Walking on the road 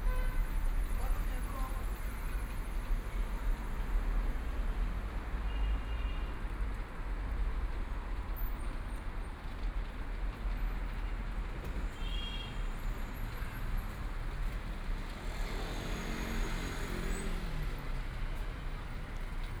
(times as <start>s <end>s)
13.2s 19.6s